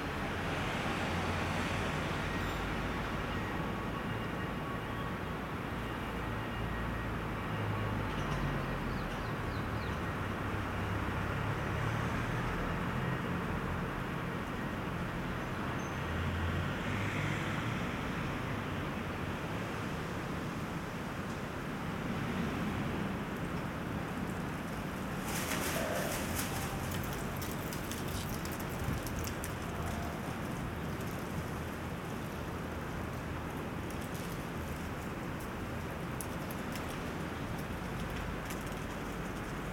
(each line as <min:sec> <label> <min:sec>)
0:16.2 Moderate Eunice storm 0:39.7